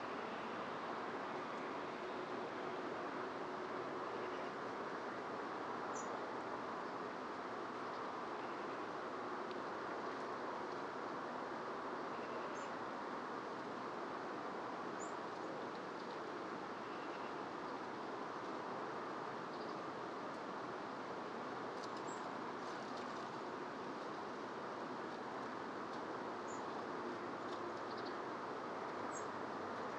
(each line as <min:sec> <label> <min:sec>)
0:04.1 resident birdsong 0:04.6
0:05.9 resident birdsong 0:06.2
0:07.9 resident birdsong 0:08.9
0:12.0 resident birdsong 0:12.8
0:15.0 resident birdsong 0:16.2
0:16.8 resident birdsong 0:17.8
0:19.4 resident birdsong 0:19.9
0:21.8 resident birdsong 0:22.8
0:26.4 resident birdsong 0:26.8
0:27.4 resident birdsong 0:28.3
0:28.9 resident birdsong 0:29.4